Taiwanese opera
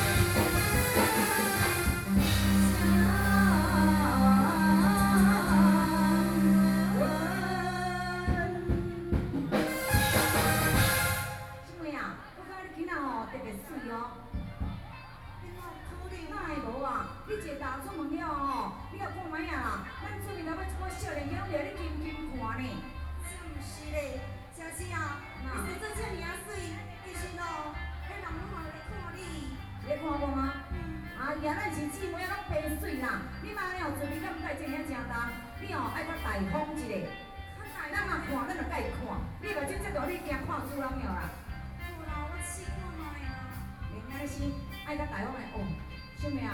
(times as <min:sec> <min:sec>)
0:00.0 0:11.7